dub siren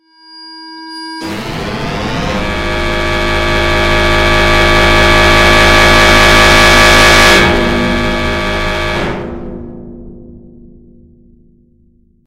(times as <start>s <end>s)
1.2s 9.7s